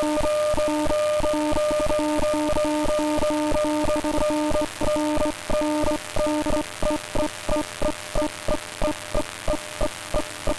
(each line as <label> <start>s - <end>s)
raw data from a random file 0.0s - 10.5s